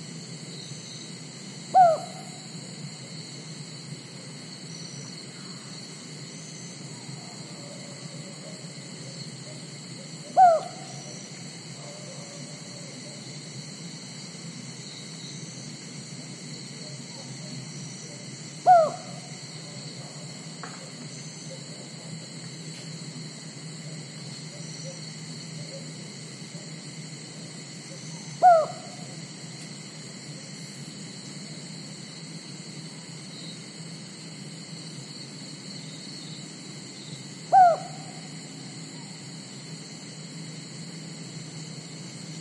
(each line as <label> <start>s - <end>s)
cicadas 0.0s - 42.4s
unknown bird (seems like cuckoo) 1.7s - 2.5s
unknown bird (seems like cuckoo) 7.0s - 11.2s
unknown bird (seems like cuckoo) 11.8s - 13.2s
unknown bird (seems like cuckoo) 16.8s - 20.2s
unknown bird (seems like cuckoo) 24.5s - 26.0s
unknown bird (seems like cuckoo) 27.9s - 29.2s
unknown bird (seems like cuckoo) 37.5s - 39.2s